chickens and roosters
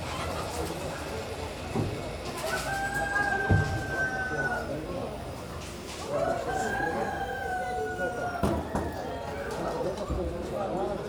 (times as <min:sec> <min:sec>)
0:02.3 0:04.8, 0:06.0 0:10.0